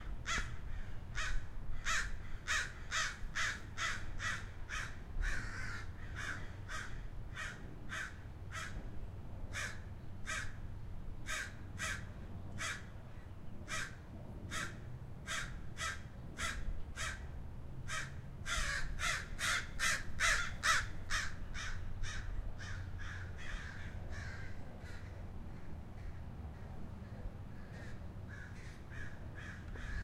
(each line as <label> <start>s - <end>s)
crows in a tree 0.0s - 8.9s
crows in a tree 9.5s - 30.0s